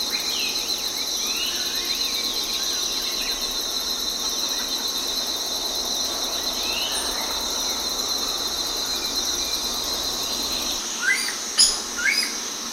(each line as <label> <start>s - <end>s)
choir of cicada 0.0s - 12.7s
crickets 0.0s - 12.7s
birdsongs and calls 6.3s - 12.4s